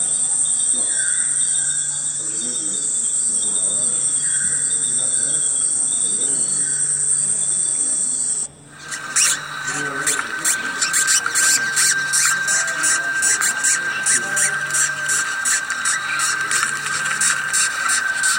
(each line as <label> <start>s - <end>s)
Tropical Bird Sounds 8.8s - 18.3s